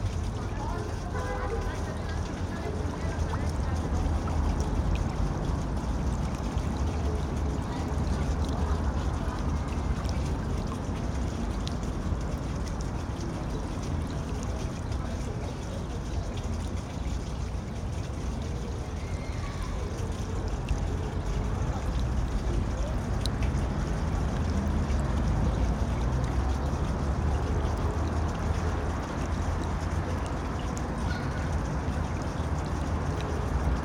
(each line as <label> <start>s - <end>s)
fountain 0.0s - 33.8s